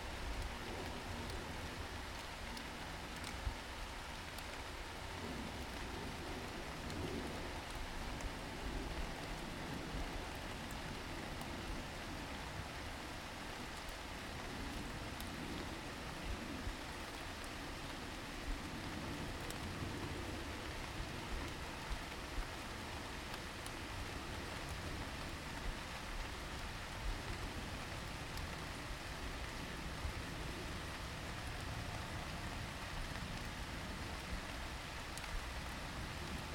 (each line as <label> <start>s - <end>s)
rain 0.0s - 36.5s